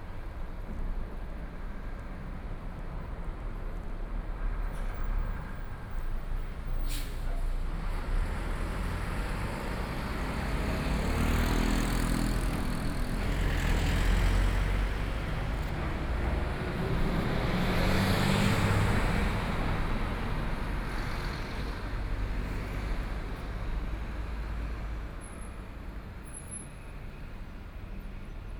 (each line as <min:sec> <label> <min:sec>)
0:00.0 walking in the Street 0:28.5